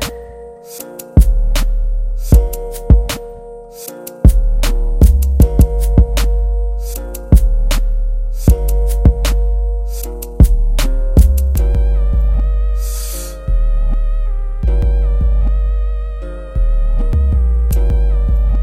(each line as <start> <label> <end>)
0.0 Sad Guitar Melody 18.6
1.2 drums 3.2
4.2 drums 6.3
8.4 drums 9.4
10.0 drums 11.6